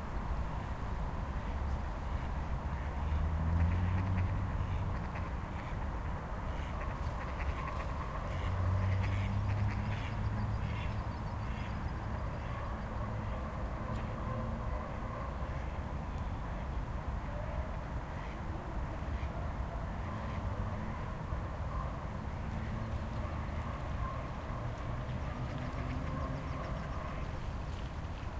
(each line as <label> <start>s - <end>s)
ducks flying at night over the pond 2.8s - 15.8s
ducks flying at night over the pond 22.6s - 28.3s